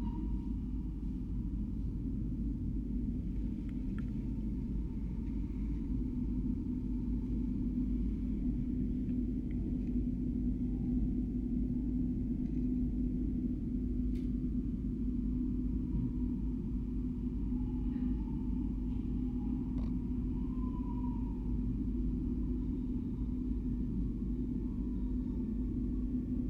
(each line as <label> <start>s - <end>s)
Bass resonances of the ambient noise around 0.0s - 26.4s